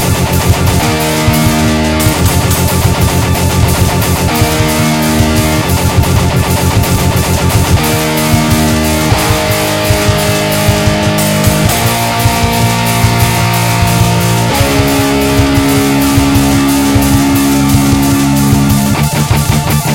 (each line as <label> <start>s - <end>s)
drums 0.0s - 19.9s
guitar 0.0s - 19.9s